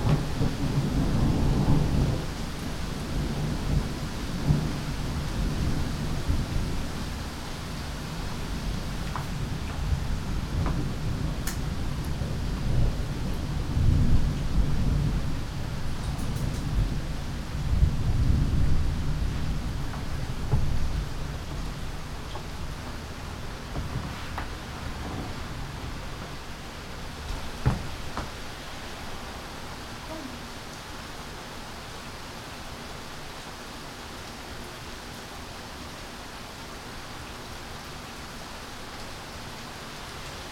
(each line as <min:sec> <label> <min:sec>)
0:00.0 thunderstorms 0:30.3